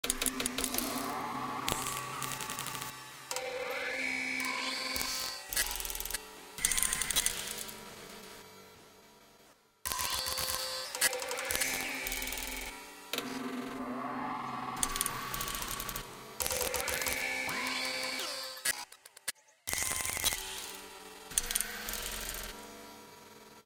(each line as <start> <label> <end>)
0.0 Mechanism Glitch Sequence 7.8
9.9 Mechanism Glitch Sequence 22.6